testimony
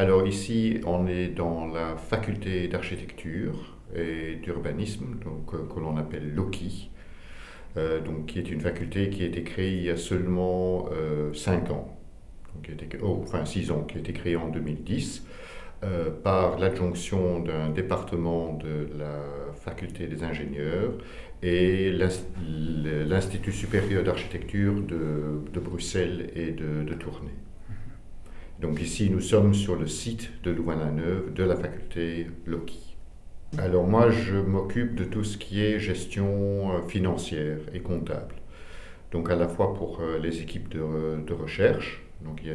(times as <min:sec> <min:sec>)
0:00.0 0:32.6